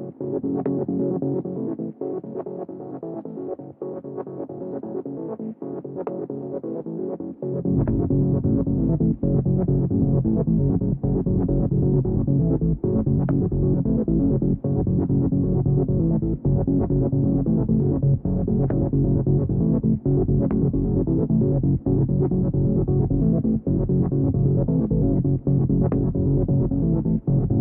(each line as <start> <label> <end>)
0.0 synthesizer 27.6
5.2 bassline 27.6